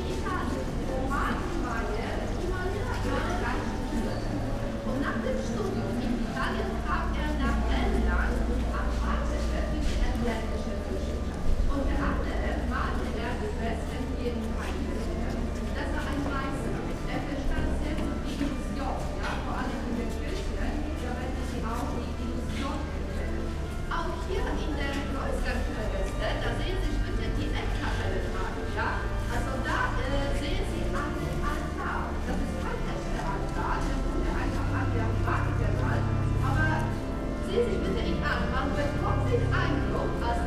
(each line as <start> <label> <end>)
0.0 people coming out of church 40.4